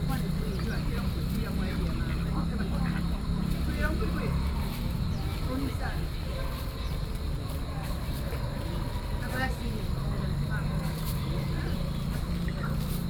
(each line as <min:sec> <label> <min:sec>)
0:00.0 group of elderly people 0:13.0